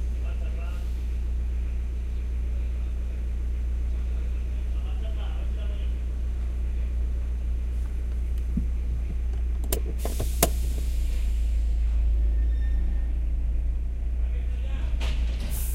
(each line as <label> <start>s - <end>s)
Car engine 0.0s - 15.7s
truck 0.0s - 15.7s
brake 5.9s - 15.7s
seatbelt 7.8s - 11.0s